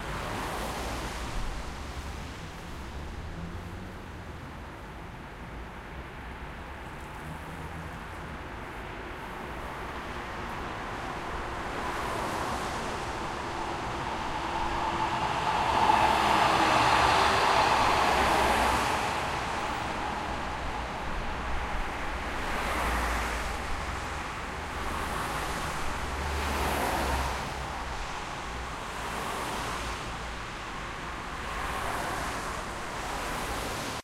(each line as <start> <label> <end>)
0.0 cars drive on a wet street 34.0
6.8 tram drives from left to the right 34.0